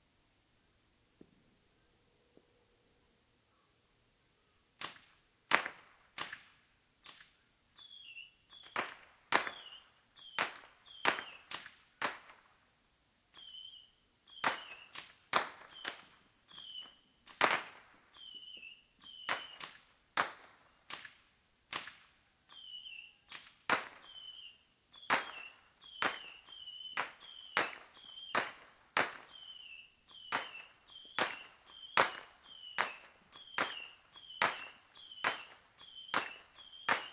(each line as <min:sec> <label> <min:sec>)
0:04.8 Fireworks 0:06.5
0:07.8 Fireworks 0:12.6
0:13.4 Fireworks 0:37.1
0:22.6 Bottle rocket battery 0:37.1